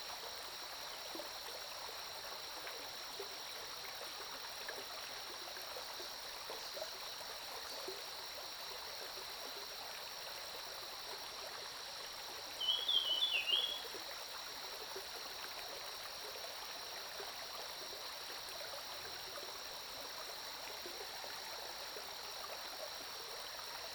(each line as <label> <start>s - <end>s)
Stream 0.0s - 23.9s
Bird calls 12.6s - 13.8s